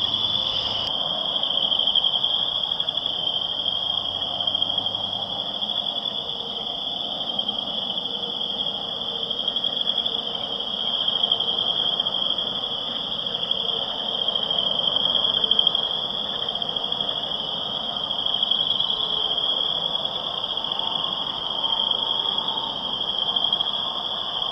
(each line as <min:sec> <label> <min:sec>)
0:00.0 Boreal Chorus Frog 0:00.9
0:00.0 cars going by on the road 0:02.4